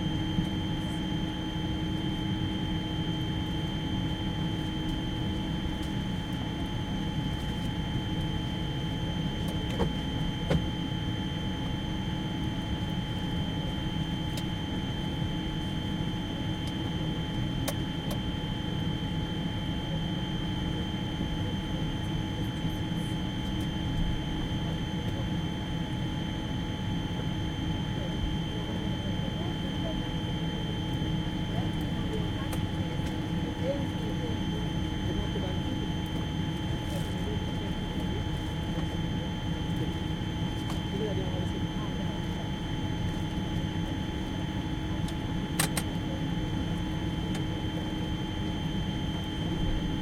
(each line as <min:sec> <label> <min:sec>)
0:00.0 Constant drone 0:50.0